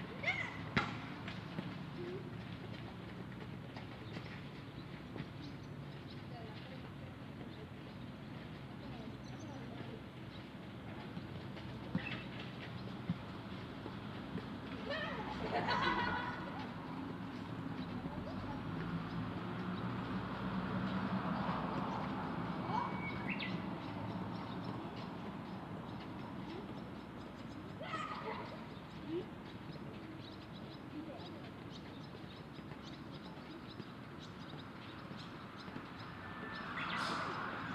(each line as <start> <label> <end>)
0.0 cars 37.7
0.2 soccer 2.3
10.8 boys 37.7
11.6 soccer 12.4